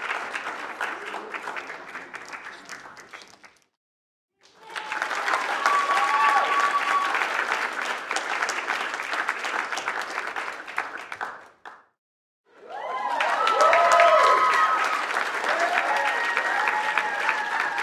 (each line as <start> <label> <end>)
0.0 medium sized audience applauses 3.8
4.4 medium sized audience applauses 17.8
4.4 cheer 8.6
12.5 cheer 17.8